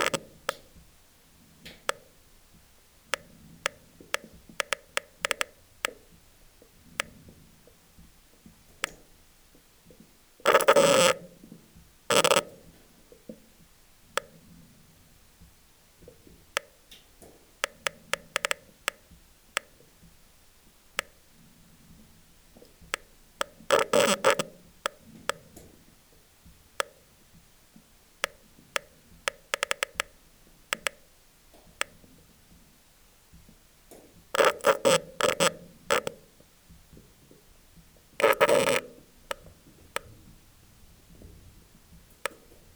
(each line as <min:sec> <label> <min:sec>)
0:00.0 water inside the drilling 0:00.6
0:10.5 water inside the drilling 0:11.2
0:12.1 water inside the drilling 0:12.4
0:17.6 water inside the drilling 0:18.9
0:23.0 water inside the drilling 0:25.6
0:34.4 water inside the drilling 0:36.1
0:38.2 water inside the drilling 0:39.5